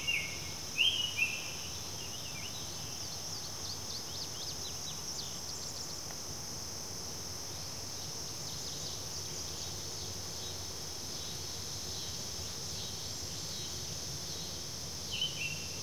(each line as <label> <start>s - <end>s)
song of the all-red Summer Tanager 0.0s - 6.1s
everpresent insects 0.0s - 15.8s
song of the all-red Summer Tanager 7.5s - 15.8s